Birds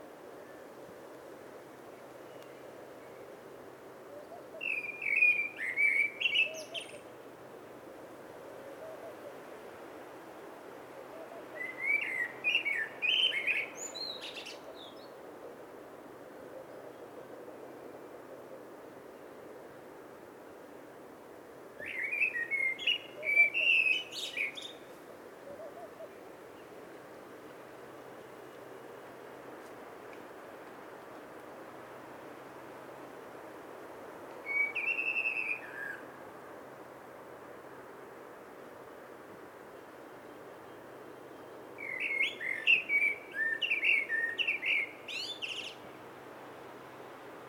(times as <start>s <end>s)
21.8s 26.8s, 40.2s 46.0s